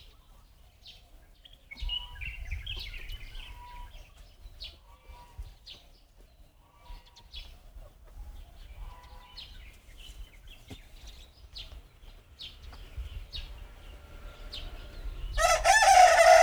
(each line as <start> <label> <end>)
0.0 Birds singing 16.4
15.4 Crowing sounds 16.4